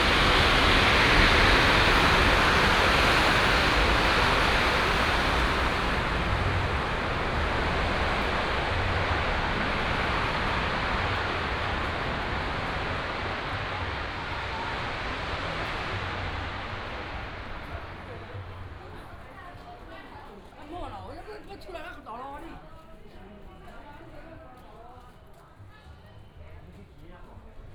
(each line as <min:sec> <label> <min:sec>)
0:00.0 firecrackers 0:19.1
0:00.0 Walking through the alley 0:27.7